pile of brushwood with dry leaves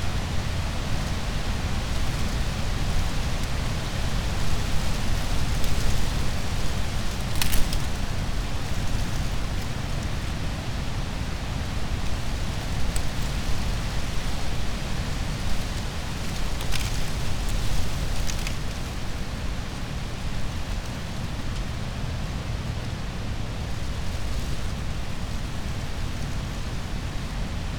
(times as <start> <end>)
5.3 10.0